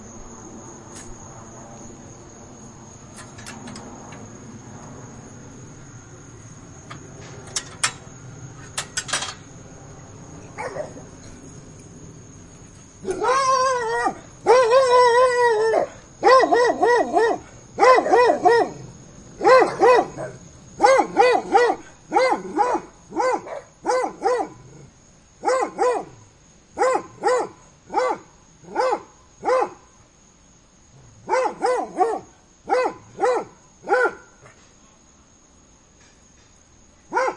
Dogs Barking through Fence 10.5 - 11.3
Dogs Barking through Fence 13.0 - 29.8
Dogs Barking through Fence 31.0 - 34.6
Dogs Barking through Fence 37.1 - 37.3

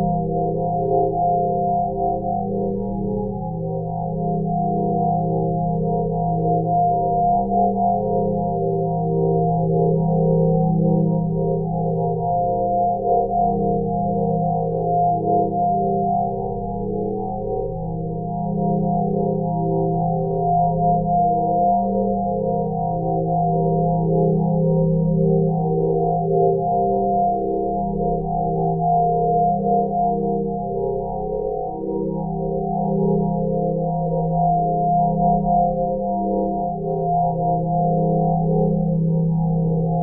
pure ambient sine wave 0.0 - 40.0

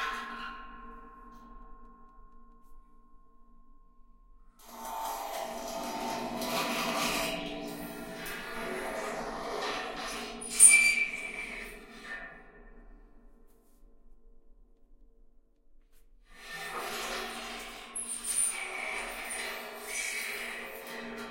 Metallic scraping in metal barrel 4.7 - 12.4
Metallic scraping in metal barrel 16.6 - 21.3

